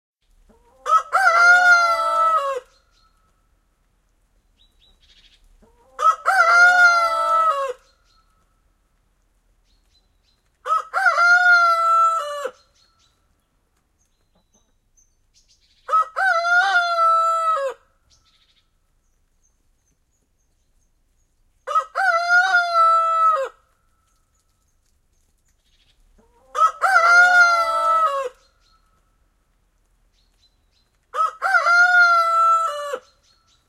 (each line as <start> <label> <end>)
0.4 chicken 3.3
0.7 rooster crows 2.7
4.8 chicken 8.4
5.8 rooster crows 7.8
10.3 chicken 12.8
10.6 rooster crows 12.6
14.0 chicken 14.8
15.8 chicken 17.8
15.9 rooster crows 17.9
21.7 rooster crows 23.6
24.4 chicken 29.0
26.4 rooster crows 28.4
30.8 chicken 33.6
31.1 rooster crows 33.2